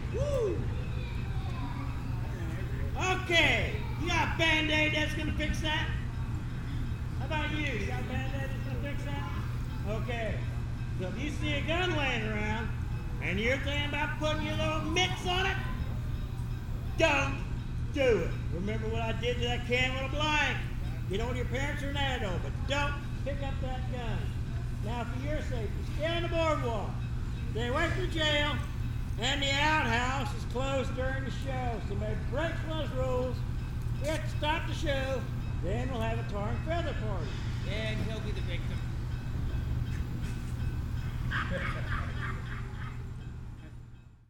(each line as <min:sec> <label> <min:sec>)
0:00.0 safety speech 0:39.0
0:00.0 diesel engine used by the Abilene & Smoky Valley Railroad maneuvers 0:44.2